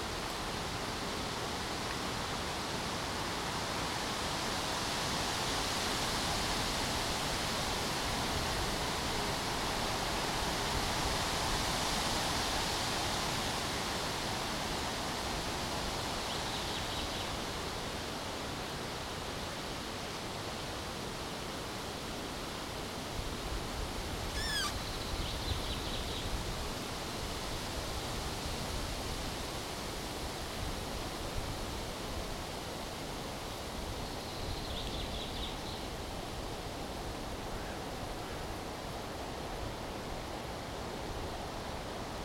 Wind noise in the trees 0.0 - 42.2
noise of traffic in the distance 0.0 - 42.2
creak of trees 24.3 - 25.0
birds 24.4 - 26.1

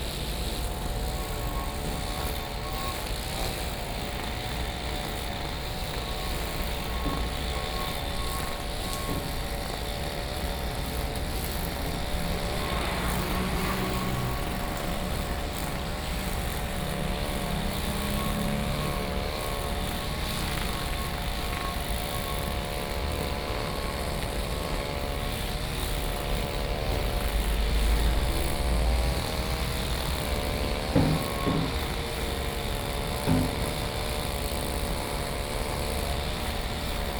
Construction noise 0.0 - 37.1
Mower 0.0 - 37.1
Traffic Sound 10.5 - 22.8

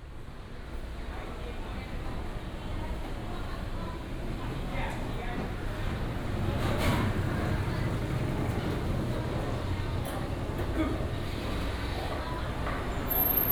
Walking in traditional market blocks 4.9 - 13.5

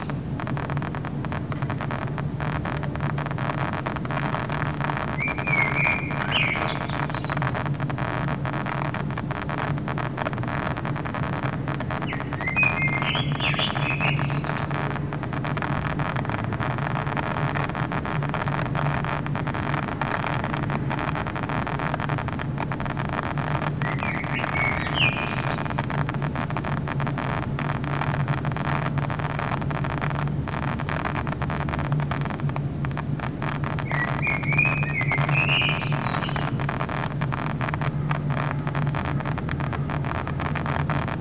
Drone air conditioner 0.0 - 41.2
Loud speaker crackling 0.0 - 41.2
bird 4.9 - 7.6
bird 11.9 - 14.8
bird 23.6 - 25.8
bird 33.7 - 36.8

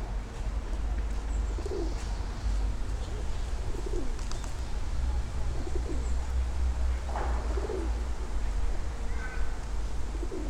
pigeons 1.4 - 2.4
pigeons 3.0 - 4.7
pigeons 5.5 - 6.3
pigeons 7.0 - 8.1
pigeons 9.1 - 10.4

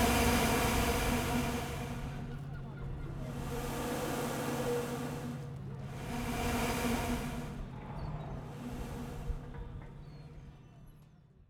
Air pushed through a vent pipe by the waves 0.0 - 2.5
engine 0.0 - 11.4
Air pushed through a vent pipe by the waves 3.1 - 10.0

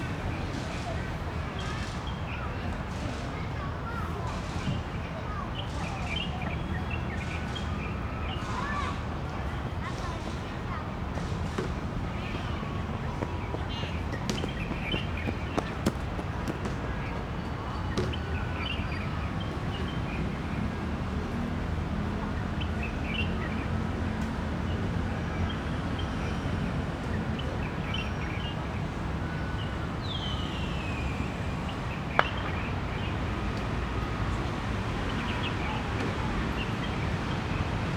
Traffic Sound 0.0 - 37.9
birds sound 12.1 - 21.6

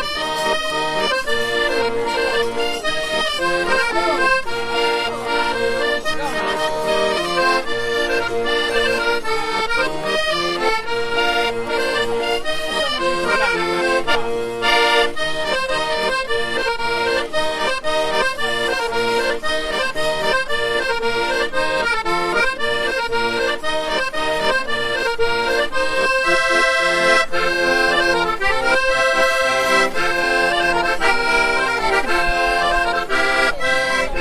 Little accordeon 0.0 - 34.2
voices 0.0 - 34.2

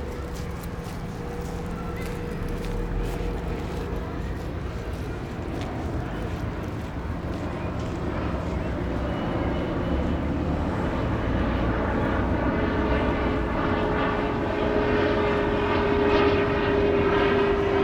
Street traffic 0.0 - 12.4
Lot of people out in the parc 0.0 - 17.8

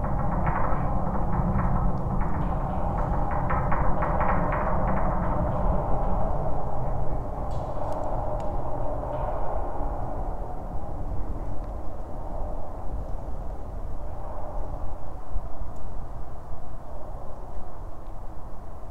abandoned metallic watertower 0.0 - 15.2

